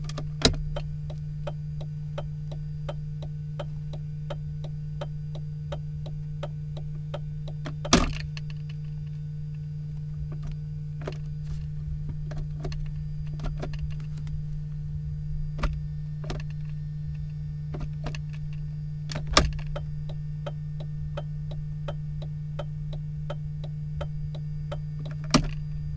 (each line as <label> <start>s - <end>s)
Turning on and off the turn signal 0.0s - 14.8s
Turning on and off the turn signal 15.5s - 25.9s